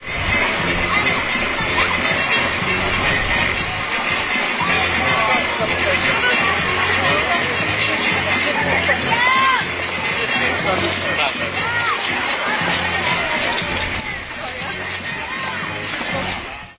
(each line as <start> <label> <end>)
0.0 crowd 16.7
0.0 music 16.7